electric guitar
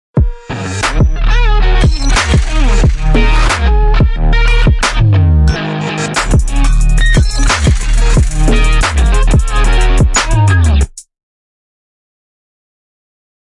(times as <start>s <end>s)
0.4s 10.8s